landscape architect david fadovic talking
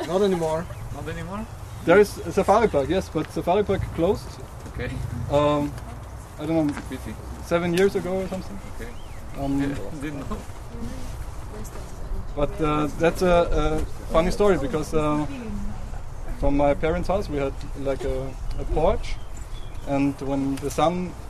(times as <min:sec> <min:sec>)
0:00.0 0:05.8, 0:06.4 0:10.4, 0:16.3 0:19.2